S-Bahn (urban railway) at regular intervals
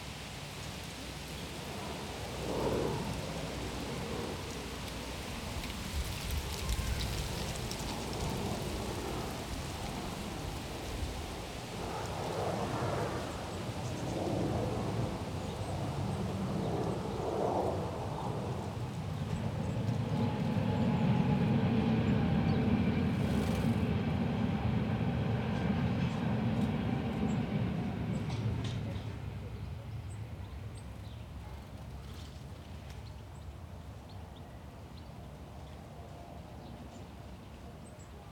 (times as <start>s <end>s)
13.9s 38.3s